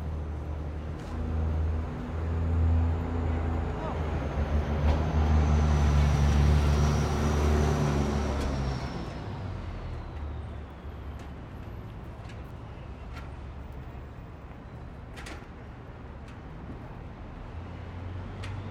people talking in the streets 0.0 - 6.3
people talking in the streets 9.4 - 17.4

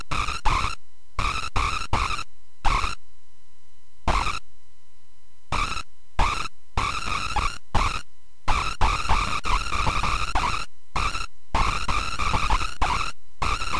Circuit bending recordings with a toy keyboard 0.0 - 3.0
Circuit bending recordings with a toy keyboard 4.1 - 4.4
Circuit bending recordings with a toy keyboard 5.5 - 13.7

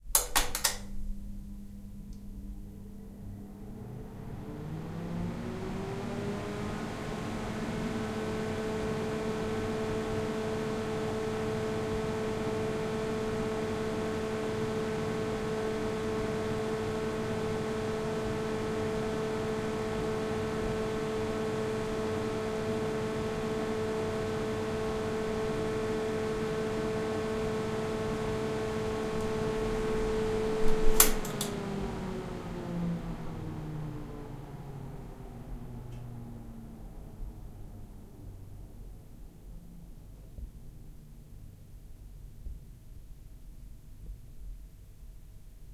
Bathroom Fan Ventilator 0.0 - 45.4

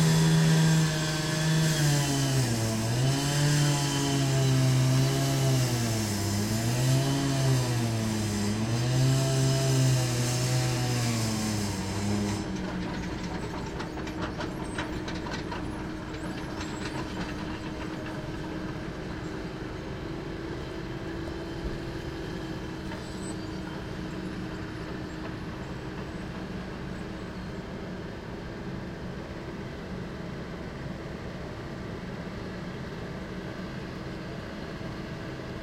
concrete saw 0.0 - 27.8
generator 0.0 - 35.6

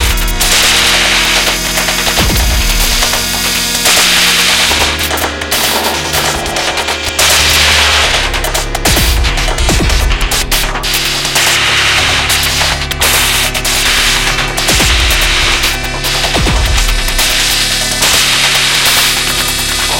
valve noise 0.0 - 19.9

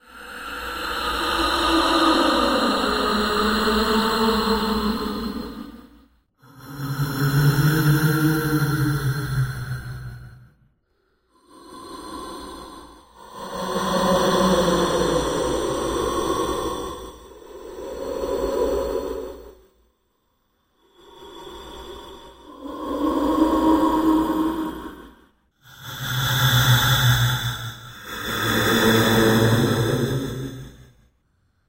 ghost/spirit breathing 0.0 - 31.6

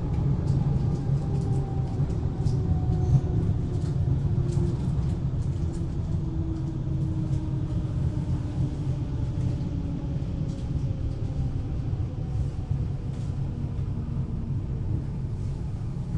train 0.0 - 16.1
woman boarding a train 0.0 - 16.1

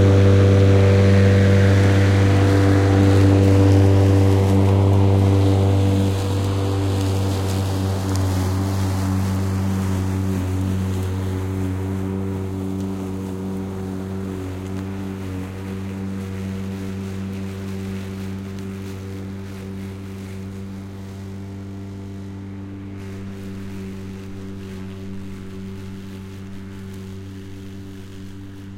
Mowing a lawn 0.0 - 28.7

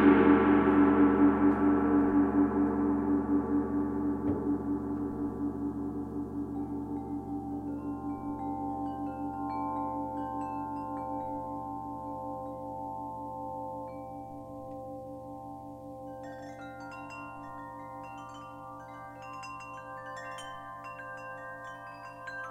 frame drum 0.0 - 6.3
gong 0.0 - 22.5
gentle wind chimes 6.4 - 22.5

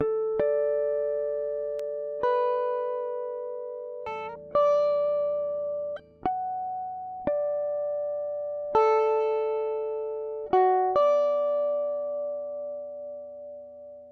guitar harmonics 0.0 - 14.1

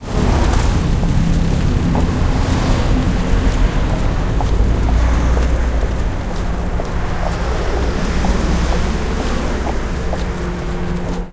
Footsteps 0.0 - 11.3
traffic 0.0 - 11.3

